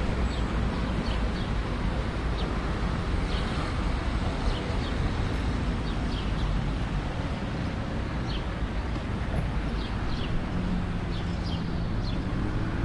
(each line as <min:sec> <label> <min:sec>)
0:00.0 traffic 0:12.8
0:00.2 Birds 0:01.7
0:05.7 Birds 0:06.8
0:08.2 Birds 0:12.8